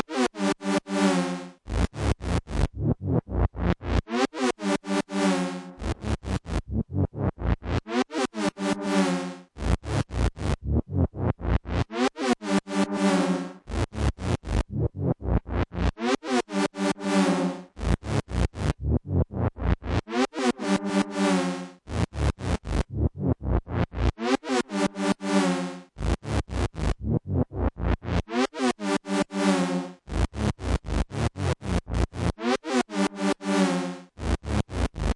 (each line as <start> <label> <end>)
11.8 synth 13.6
16.2 synth 17.7
20.0 synth 21.8